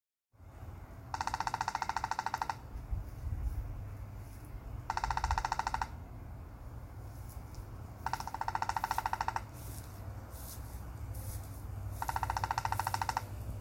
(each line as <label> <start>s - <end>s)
woodpecker pecking at a dead cedar branch 1.1s - 2.6s
woodpecker pecking at a dead cedar branch 4.9s - 6.0s
woodpecker pecking at a dead cedar branch 7.4s - 9.9s
woodpecker pecking at a dead cedar branch 12.0s - 13.4s